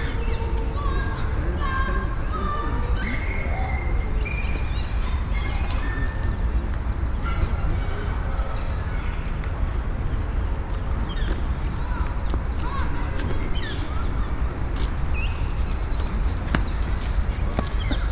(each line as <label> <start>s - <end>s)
Children playing 0.0s - 18.1s
people wandering 0.0s - 18.1s